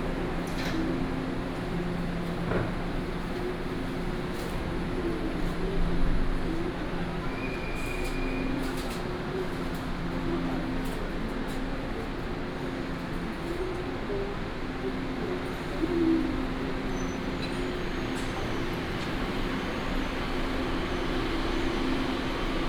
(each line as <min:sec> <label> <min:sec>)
0:00.0 walking in the station 0:22.6
0:10.9 The train travels 0:22.6